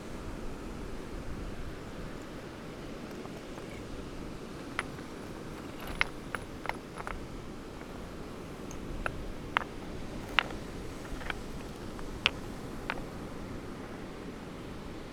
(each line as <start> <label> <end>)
1.5 moving about some rocks and pebbles 13.6
1.5 throwing some of the smaller ones over the bigger rocks 13.7